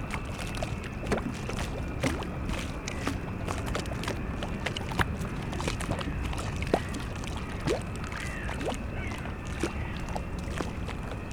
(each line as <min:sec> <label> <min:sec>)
0:00.0 lapping waves 0:11.3
0:08.2 crows 0:10.0